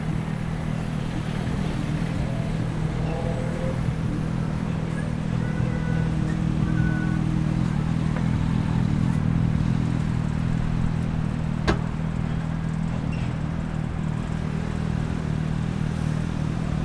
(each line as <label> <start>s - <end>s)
commuter traffic 0.0s - 16.8s
tireless flow of construction vehicles 0.0s - 16.8s